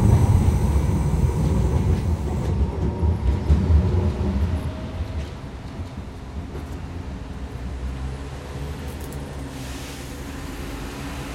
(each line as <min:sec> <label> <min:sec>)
0:00.0 straszenbahn 0:11.3